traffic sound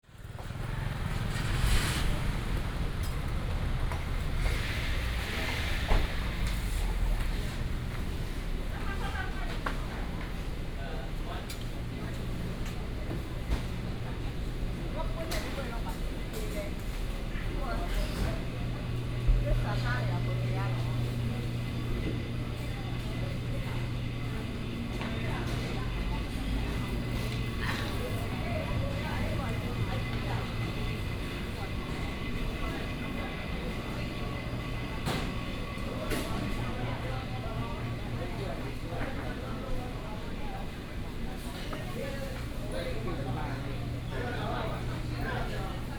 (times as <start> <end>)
0.1 10.4